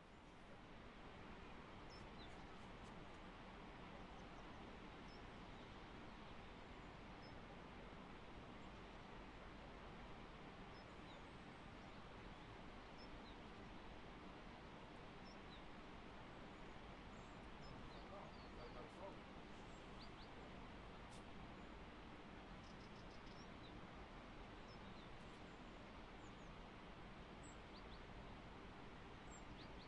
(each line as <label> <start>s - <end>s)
river sounds 0.0s - 29.8s
trees 0.0s - 29.8s
birds 1.5s - 7.5s
birds 10.6s - 13.8s
birds 15.1s - 15.8s
birds 16.4s - 29.8s